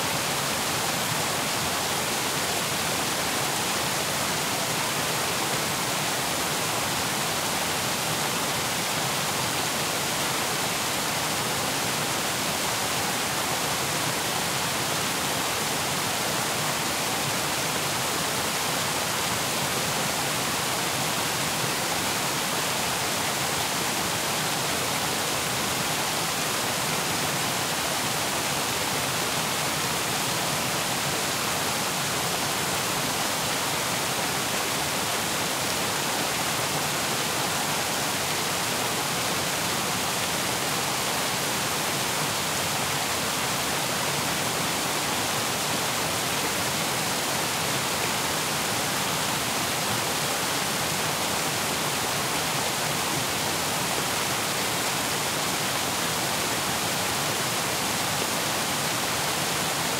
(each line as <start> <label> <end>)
0.0 Waterfall 59.9